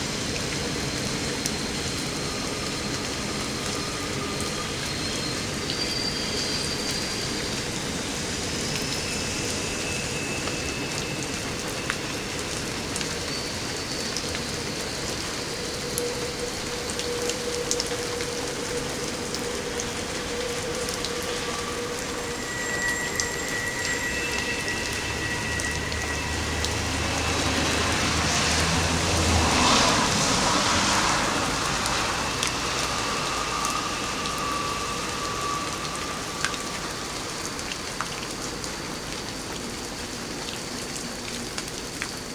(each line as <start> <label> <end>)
0.0 Train Going Past 42.3
0.0 rain 42.3
24.2 car going past 37.8